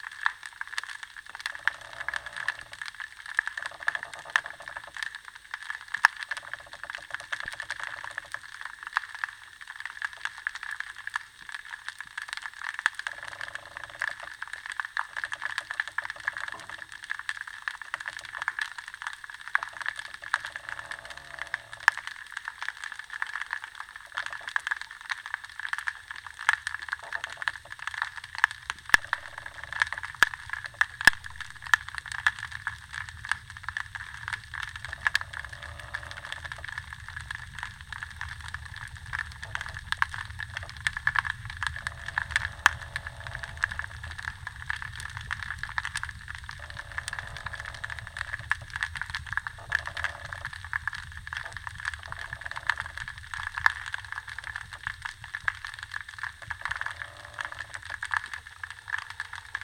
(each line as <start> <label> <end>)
0.0 aquatic sounds 59.6